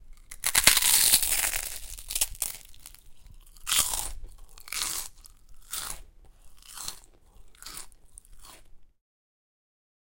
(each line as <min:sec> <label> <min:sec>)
0:00.1 Prawn Cracker Crunch 0:08.7